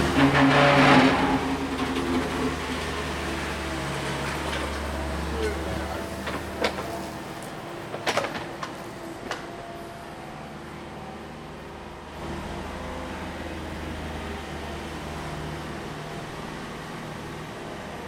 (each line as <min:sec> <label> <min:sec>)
0:00.0 trains 0:18.0